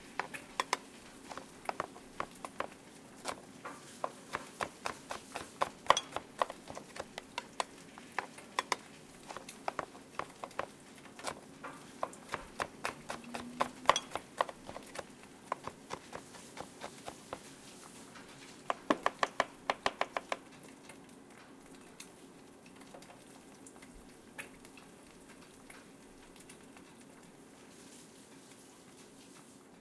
veggies being chopped 0:00.0 - 0:17.6
eggs frying 0:00.0 - 0:27.7
coffee being made 0:00.0 - 0:29.8
veggies being chopped 0:18.6 - 0:20.4

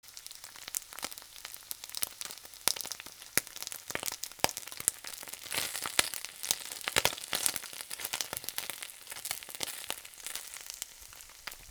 Sizzling fish 0:00.0 - 0:11.7

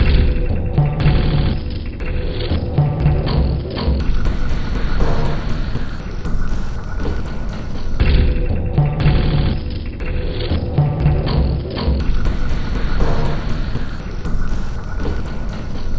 Drum 0:00.0 - 0:15.9

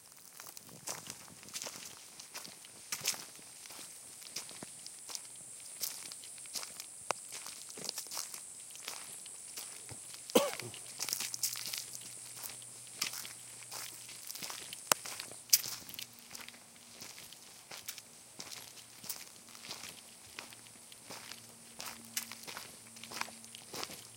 man walking 0:00.0 - 0:24.1
crickets 0:00.0 - 0:24.1

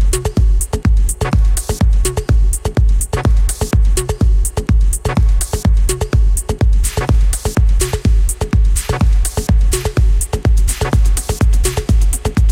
Bass 0:00.0 - 0:12.5
Hi Hat 0:00.0 - 0:12.5
Kick 0:00.0 - 0:12.5
Snare 0:08.8 - 0:10.0
Snare 0:10.7 - 0:12.3

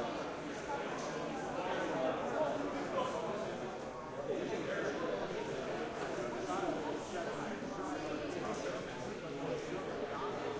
Busy airport lobby, French and English 0:00.0 - 0:10.5

